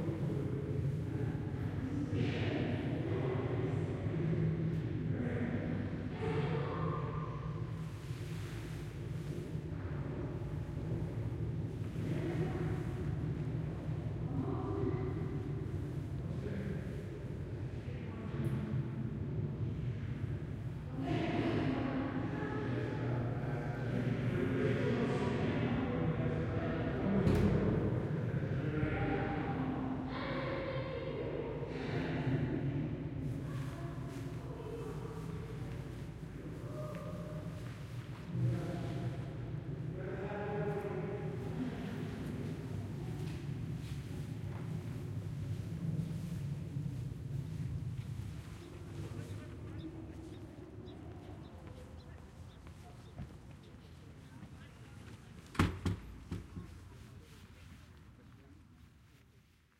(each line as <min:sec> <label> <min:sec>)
0:00.0 people walking up and down an echoey spiral staircase 0:59.7